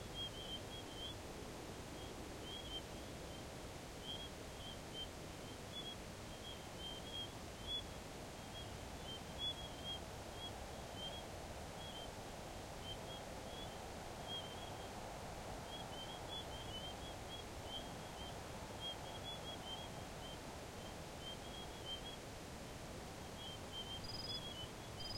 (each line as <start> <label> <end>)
0.0 wind 25.1
15.7 crickets 22.2
23.4 crickets 25.1